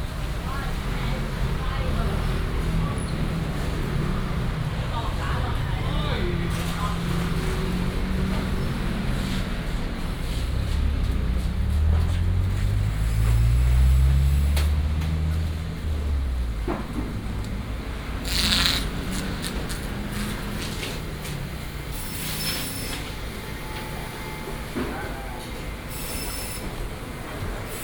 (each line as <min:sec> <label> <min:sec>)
0:00.0 Traffic sound 0:27.8